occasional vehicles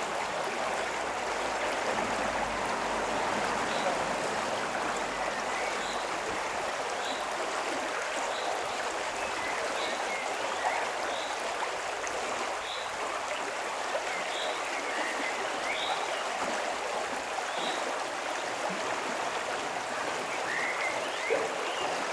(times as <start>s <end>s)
0.2s 6.8s